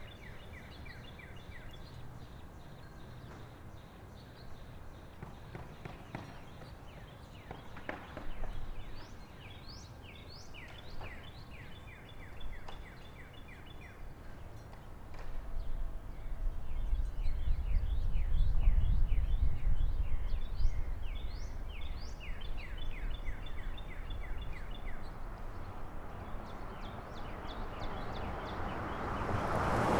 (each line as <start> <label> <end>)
21.1 passing traffic 29.9